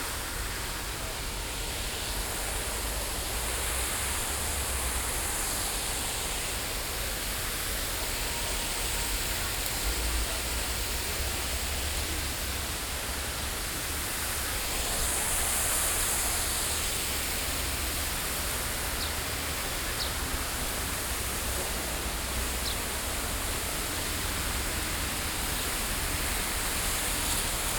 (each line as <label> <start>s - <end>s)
water 0.0s - 27.7s